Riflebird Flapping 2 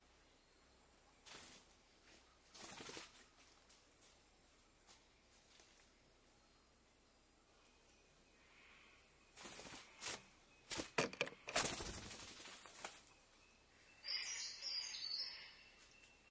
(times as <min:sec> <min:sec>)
0:09.4 0:13.1